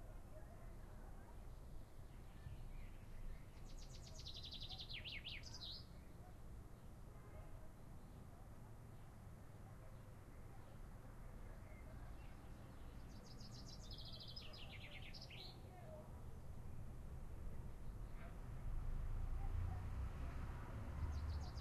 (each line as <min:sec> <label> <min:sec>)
0:02.1 birds chirping 0:06.9
0:11.6 birds chirping 0:15.8
0:18.2 cars 0:21.6
0:21.0 birds chirping 0:21.6